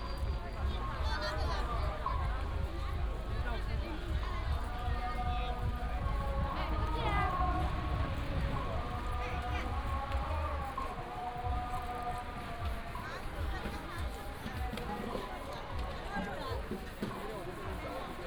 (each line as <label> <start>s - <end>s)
walking in the Street 0.0s - 18.2s